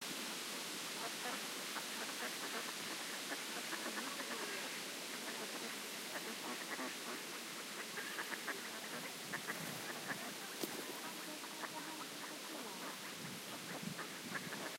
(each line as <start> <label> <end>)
0.0 wind 14.7
1.0 Ducks quacking 14.7
1.0 people feeding the birds 14.7